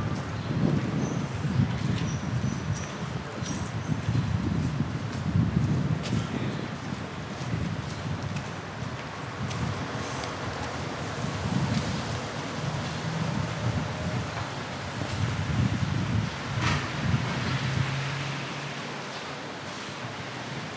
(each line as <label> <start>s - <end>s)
walkers in the street 0.0s - 20.7s
people in the terrasse 6.0s - 8.0s